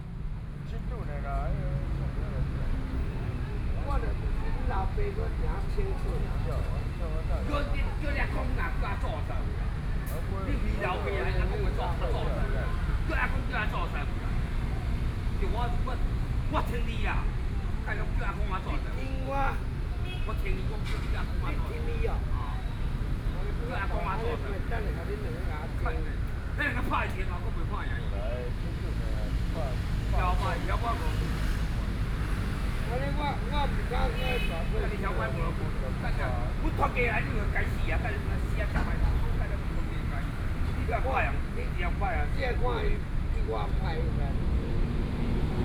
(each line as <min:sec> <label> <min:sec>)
0:00.0 Traffic Noise 0:45.6